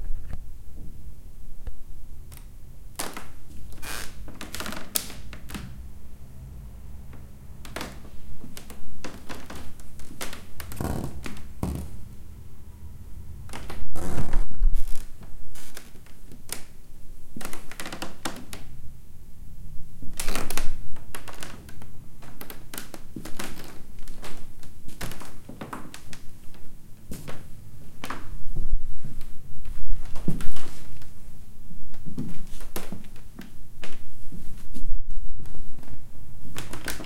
Walking slowly on a cranky wooden floor 0:07.2 - 0:12.0
Walking slowly on a cranky wooden floor 0:13.5 - 0:16.7
Walking slowly on a cranky wooden floor 0:20.2 - 0:31.2

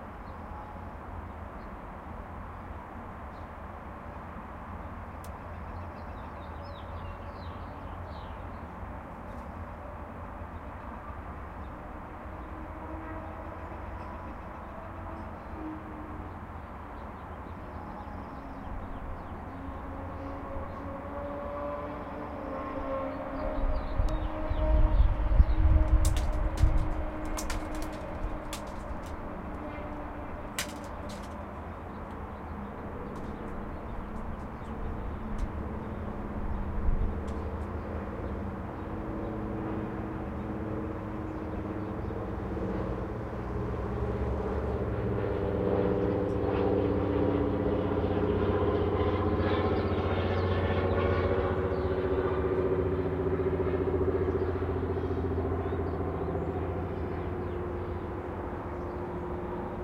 small plane 0:00.0 - 0:59.8
birds 0:04.7 - 0:09.8
birds 0:10.4 - 0:20.9
birds 0:22.1 - 0:39.6
birds 0:54.2 - 0:59.8

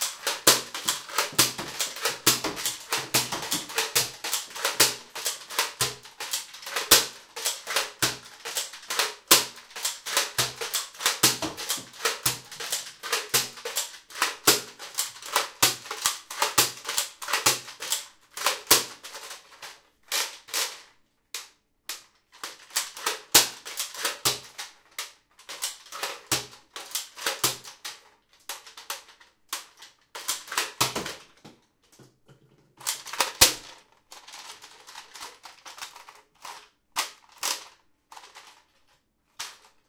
Shooting a nerf gun 0:00.0 - 0:18.9

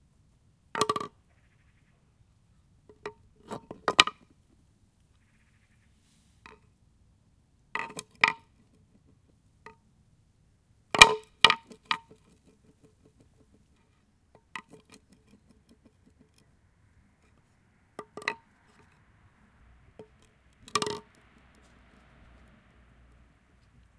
Horn dropped on stone floor 0:11.0 - 0:12.2
Horn dropped on stone floor 0:18.0 - 0:19.0
Horn dropped on stone floor 0:20.0 - 0:21.2

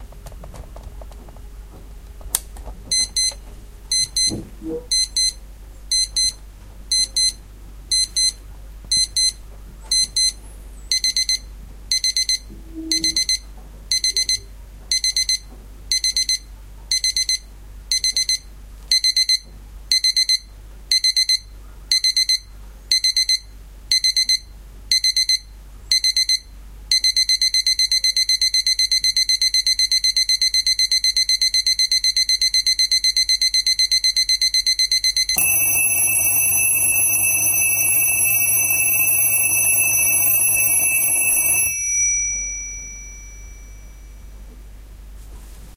alarm 0:03.0 - 0:08.4
alarm 0:10.0 - 0:19.4
alarm 0:26.0 - 0:44.4

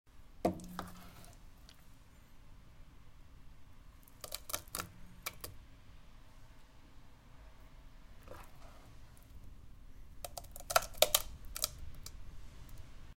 background noise 0:00.1 - 0:13.1
soup dripping into pot 0:00.5 - 0:01.8

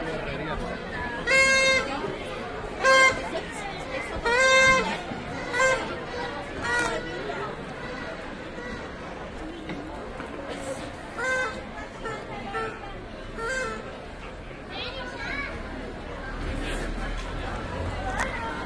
Voices of people passing 0:00.0 - 0:18.6
kid plays a toy trumpet 0:01.2 - 0:01.9
kid plays a toy trumpet 0:02.8 - 0:03.3
kid plays a toy trumpet 0:04.2 - 0:05.8
kid plays a toy trumpet 0:11.2 - 0:12.8
kid plays a toy trumpet 0:13.4 - 0:13.8

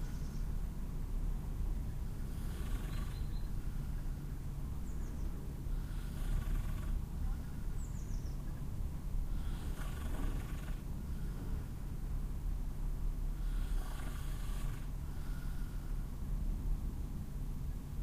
bird singing 0:00.0 - 0:00.6
urban noise at night 0:00.0 - 0:18.0
increasing noise of an airplane 0:00.5 - 0:07.8
bird singing 0:01.8 - 0:05.4
breath 0:05.7 - 0:06.4
bird singing 0:07.3 - 0:08.8
increasing noise of an airplane 0:08.7 - 0:18.0
breath 0:09.3 - 0:09.8
breath 0:11.0 - 0:11.7
breath 0:13.4 - 0:16.1

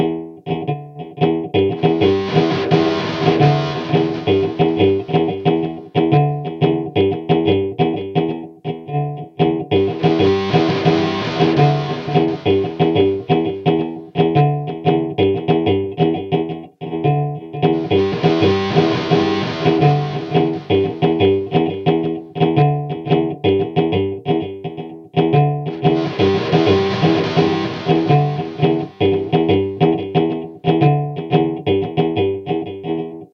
electric guitar 0:00.0 - 0:33.3

